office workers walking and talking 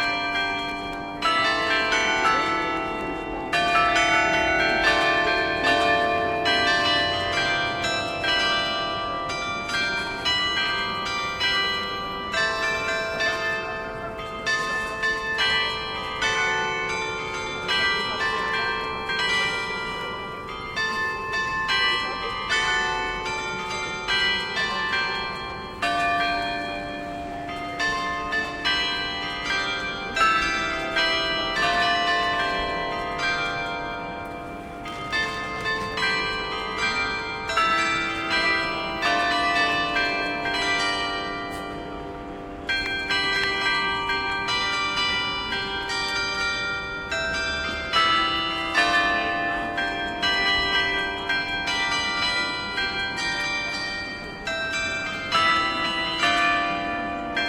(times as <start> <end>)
11.8 31.6